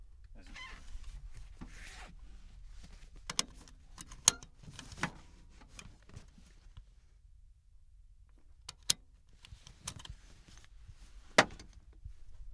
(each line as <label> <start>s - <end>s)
Driver fastening and unfastening seatbelt 0.4s - 6.6s
Driver fastening and unfastening seatbelt 8.8s - 11.8s